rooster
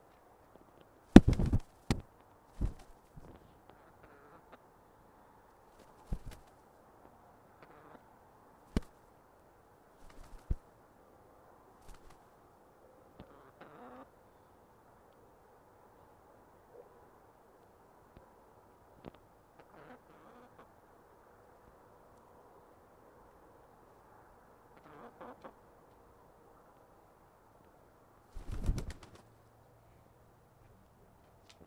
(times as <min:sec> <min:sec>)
0:03.7 0:04.6, 0:07.6 0:08.1, 0:13.2 0:14.1, 0:19.6 0:20.7, 0:24.8 0:25.6